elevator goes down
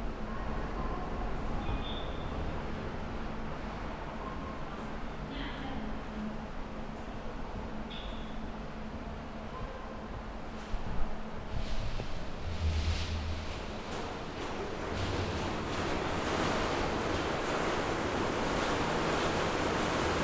11.6 20.2

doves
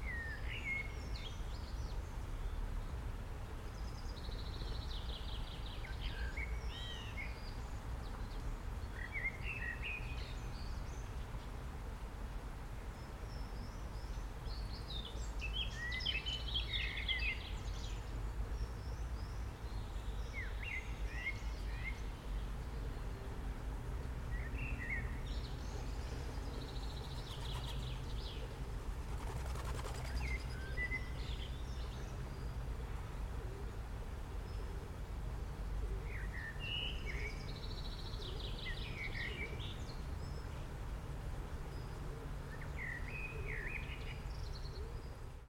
26.2 32.1

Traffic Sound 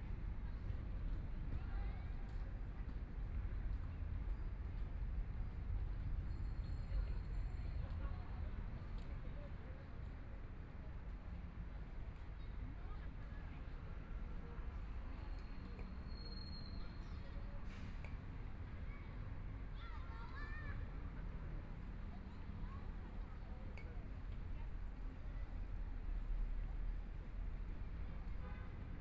10.1 29.0

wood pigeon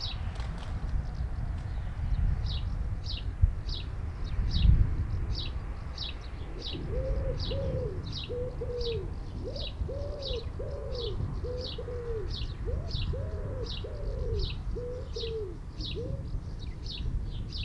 6.6 16.7

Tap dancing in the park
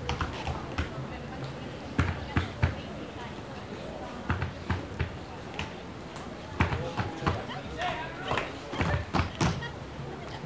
0.0 1.0, 8.3 9.6

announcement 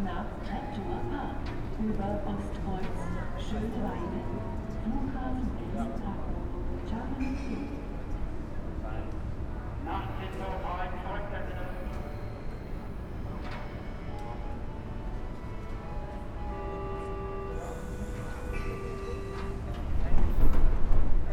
14.1 20.0

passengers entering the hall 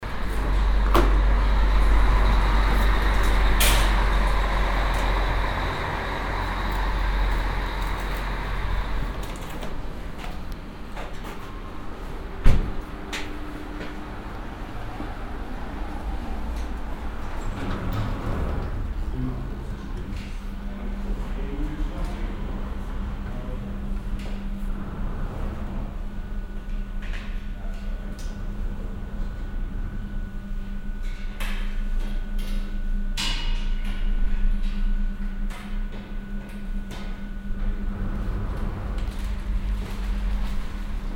0.0 31.4

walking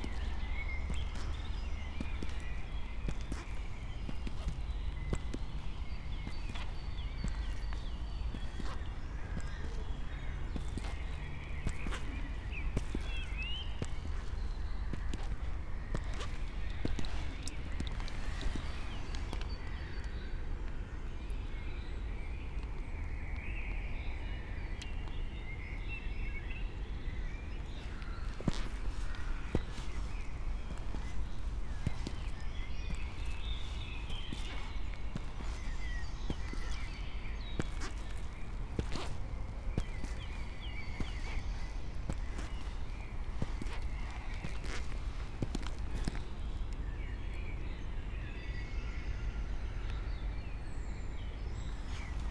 0.0 20.0, 27.5 46.8, 51.6 52.3

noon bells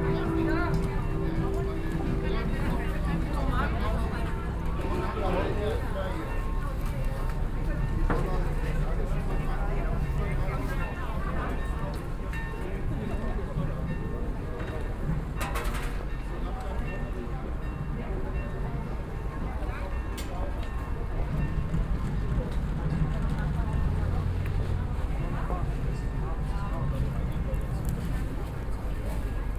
0.0 7.1

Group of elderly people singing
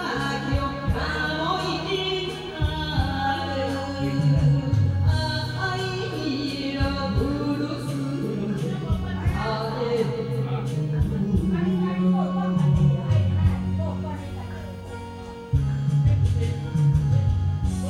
0.0 14.2

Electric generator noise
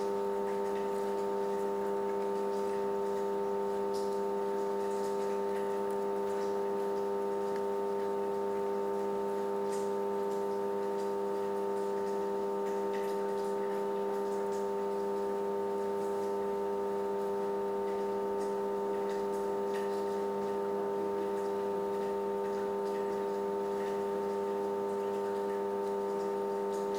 16.4 19.6

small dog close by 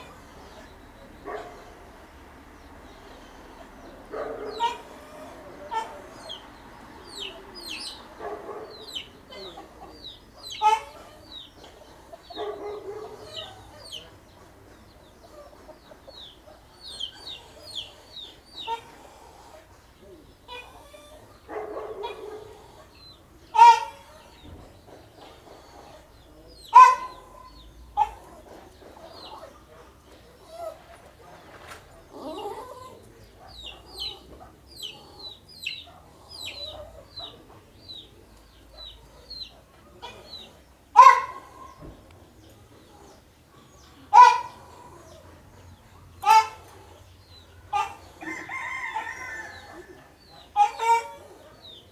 3.8 6.4

